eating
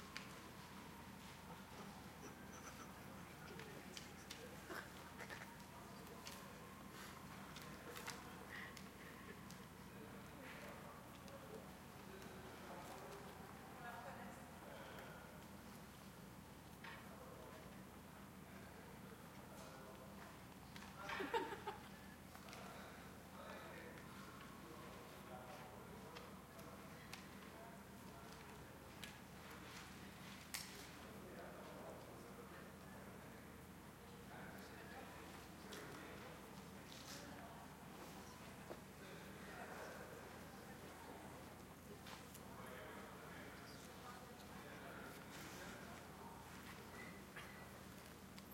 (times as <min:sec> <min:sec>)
0:01.7 0:06.4